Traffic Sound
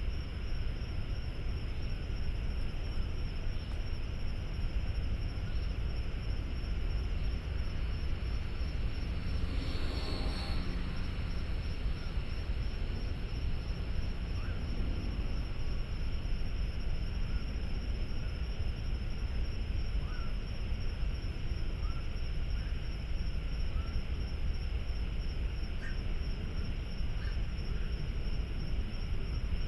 6.4s 17.0s

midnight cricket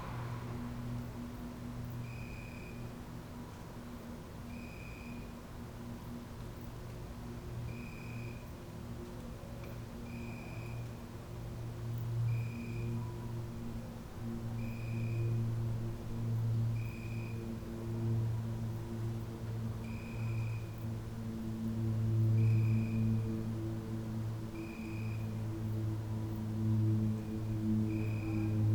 0.0s 2.9s, 4.5s 5.4s, 7.7s 8.5s, 12.0s 13.2s, 14.6s 15.4s, 16.5s 21.0s, 24.6s 25.9s, 26.5s 28.7s

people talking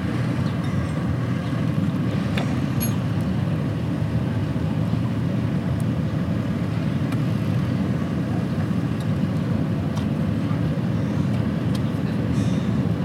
10.3s 12.6s

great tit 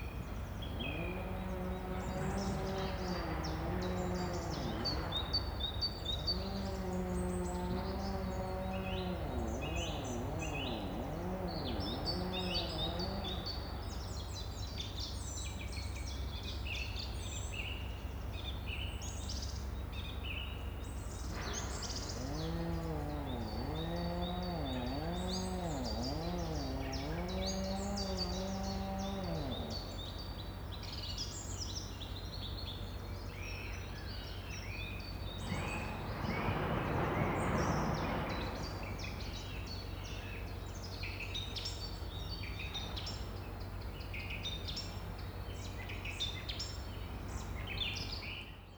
0.7s 14.1s, 21.2s 31.0s

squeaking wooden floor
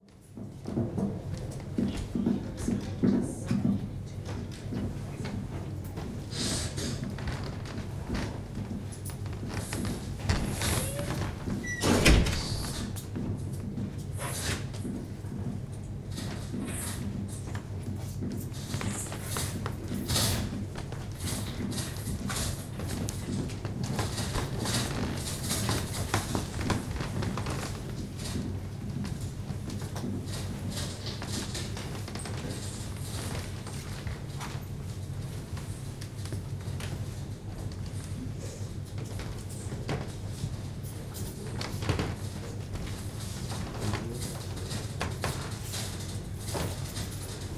9.2s 13.0s

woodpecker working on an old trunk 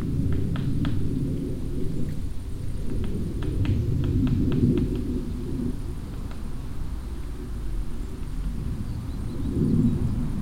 2.9s 7.4s

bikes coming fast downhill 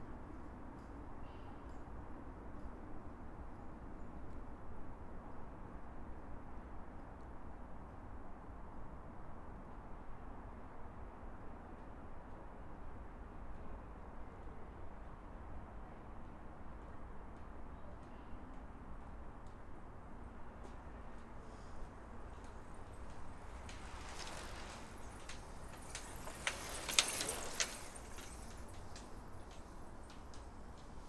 20.7s 31.0s

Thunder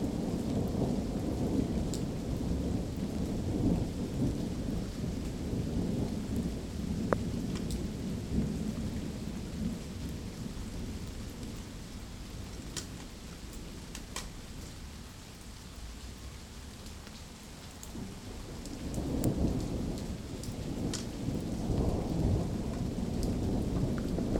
17.9s 24.3s

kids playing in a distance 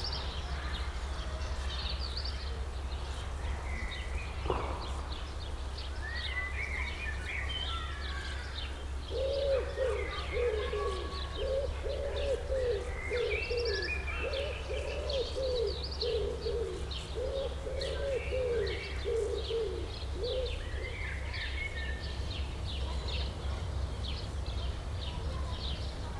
0.0s 5.1s, 6.2s 14.6s, 21.0s 26.1s

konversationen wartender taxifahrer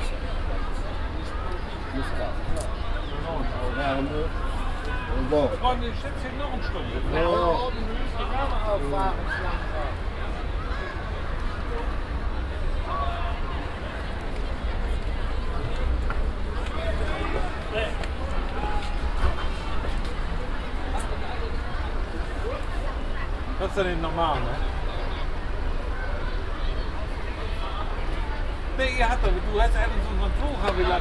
1.2s 10.1s, 28.7s 31.0s

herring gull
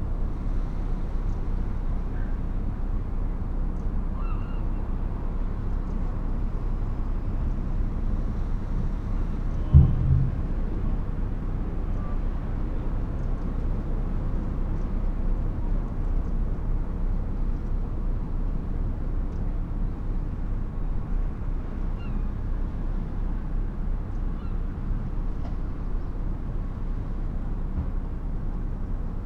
4.2s 5.0s

